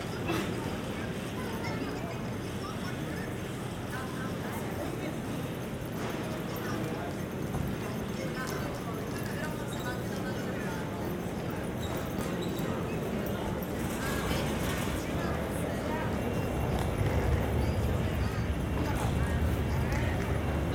People passing by 0:00.0 - 0:20.7
conversations 0:00.0 - 0:20.7
trains passing above 0:12.6 - 0:20.7

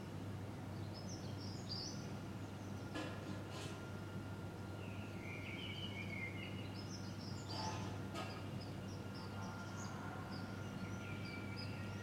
air conditioning 0:00.0 - 0:09.4
city noises 0:00.0 - 0:12.0
Bird songs 0:00.7 - 0:03.1
Bird songs 0:03.8 - 0:12.0

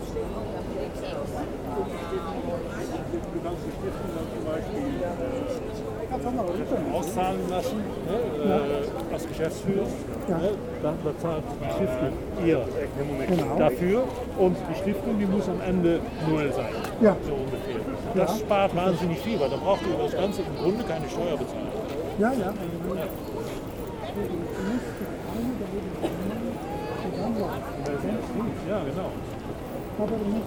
People walking quietly 0:00.0 - 0:30.4

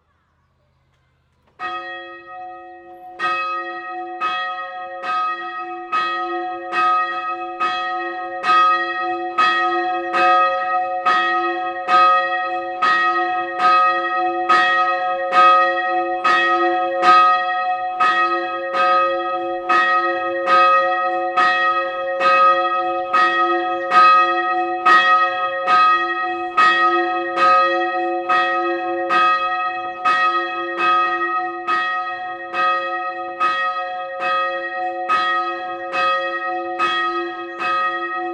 Church bells 0:00.0 - 0:38.3

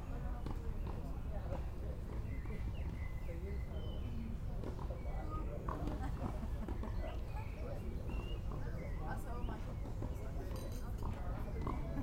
lawn-tennis 0:04.5 - 0:07.0

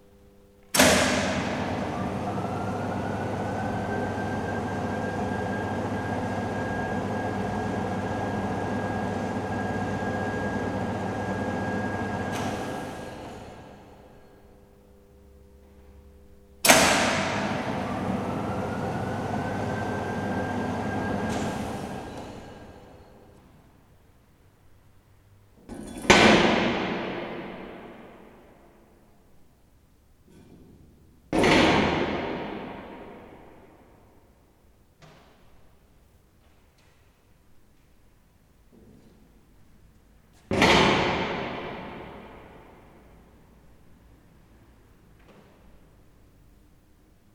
big-crane 0:00.7 - 0:14.4
big-crane 0:16.6 - 0:23.4

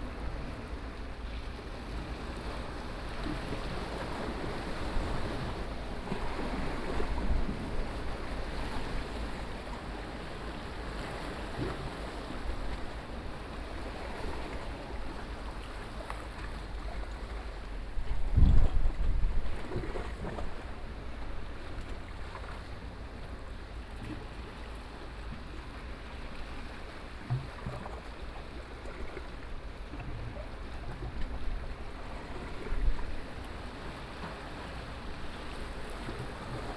waves 0:00.0 - 0:36.7

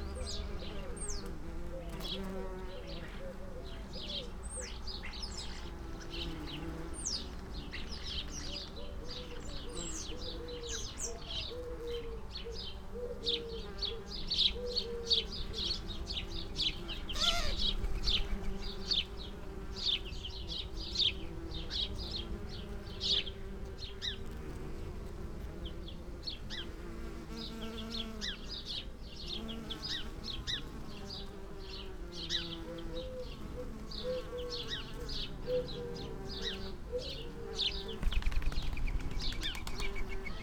bees on lavender 0:00.0 - 0:40.4
collared dove 0:08.2 - 0:15.8
blackbird 0:27.4 - 0:40.4
collared dove 0:32.0 - 0:40.4

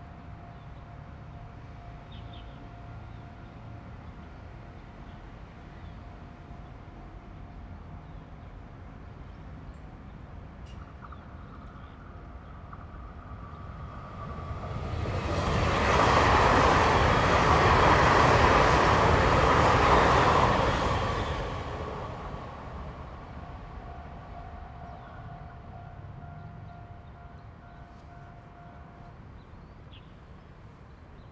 The train runs through 0:00.0 - 0:31.3
Traffic sound 0:10.7 - 0:31.0

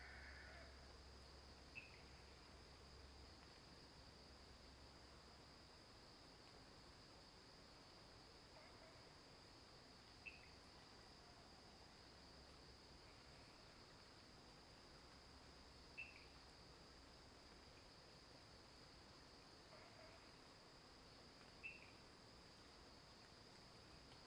Frogs chirping 0:21.6 - 0:22.0

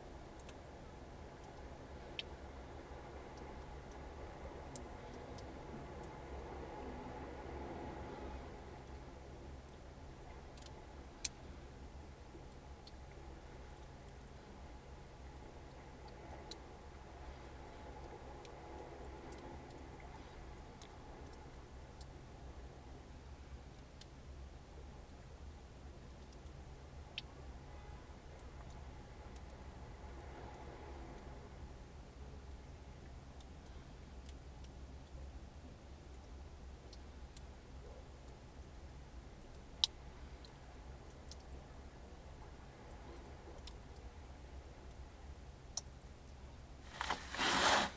water drips in lava cave 0:00.0 - 0:47.2

